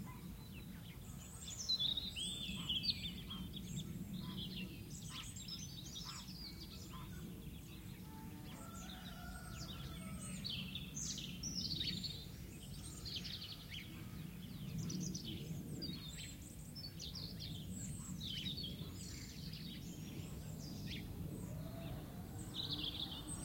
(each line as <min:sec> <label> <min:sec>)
0:00.0 birds 0:23.4
0:08.1 rooster 0:10.4